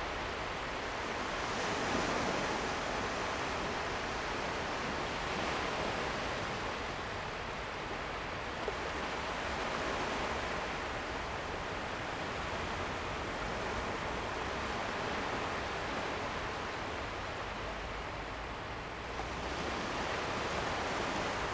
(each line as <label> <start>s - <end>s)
Waves 0.0s - 21.5s